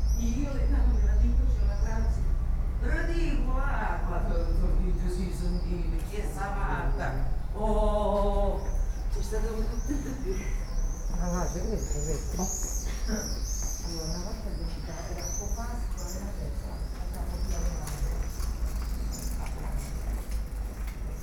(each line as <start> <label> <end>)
0.0 voices 21.2
16.9 bicycle 21.2